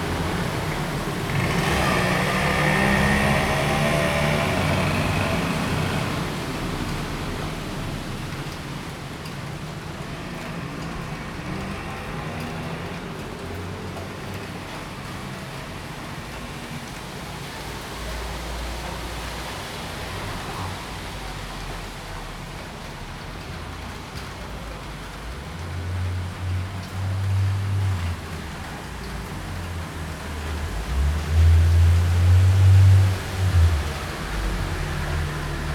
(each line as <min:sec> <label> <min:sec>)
0:00.0 Traffic Sound 0:35.7